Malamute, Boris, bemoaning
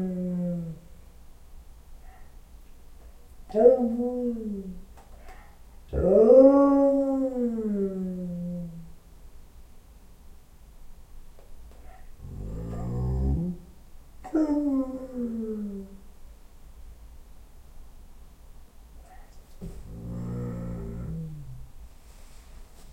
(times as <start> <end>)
0.0 0.8, 3.5 8.9, 11.8 16.0, 19.8 21.7